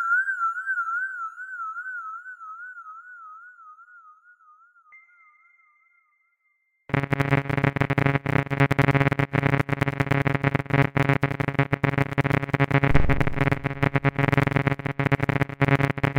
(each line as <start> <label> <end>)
7.0 old-fashioned sysntheseizer 16.1